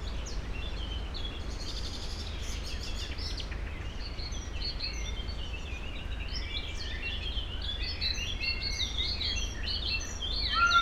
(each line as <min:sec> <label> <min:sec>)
0:00.0 birds 0:10.8
0:00.0 wind through tree crowns 0:10.8
0:10.4 screams and other voices of peacocks 0:10.8